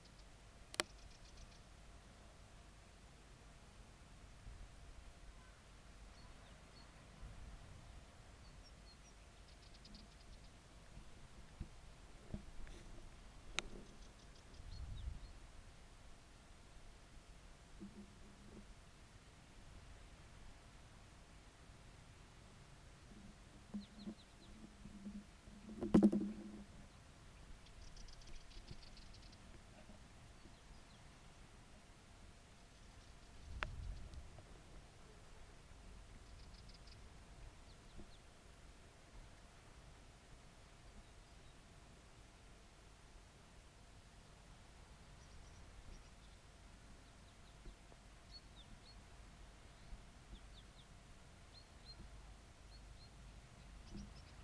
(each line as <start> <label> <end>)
0.0 Bird Singing 1.7
27.6 Bird Singing 29.5
36.2 Bird Singing 37.1
51.5 Bird Singing 54.4